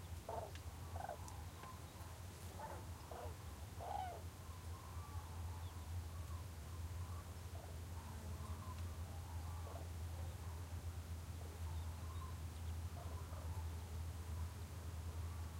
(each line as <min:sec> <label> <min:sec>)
0:02.6 Cranes calling, distant 0:05.3